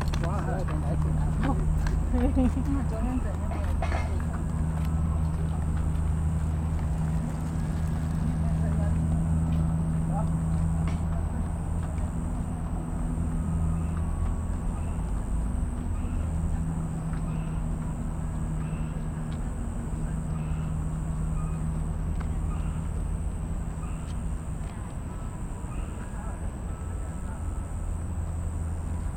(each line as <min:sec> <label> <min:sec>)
0:00.0 traffic sound 0:29.1